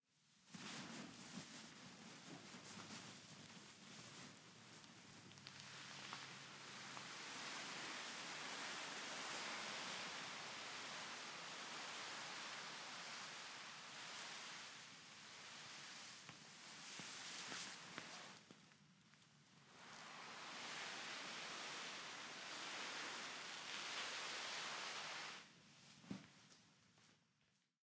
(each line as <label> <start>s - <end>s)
dragged a cloth tarp with sandbags on it 5.6s - 18.4s
dragged a cloth tarp with sandbags on it 19.6s - 26.3s